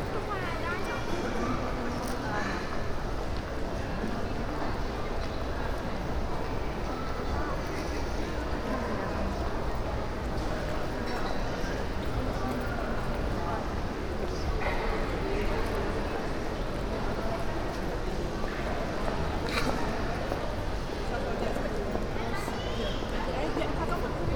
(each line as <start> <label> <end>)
0.0 people walking on the stone floor 24.3